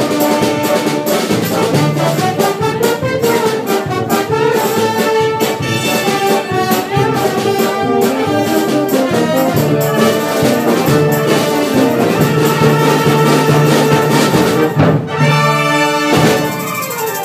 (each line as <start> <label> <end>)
0.0 Orchestra 17.2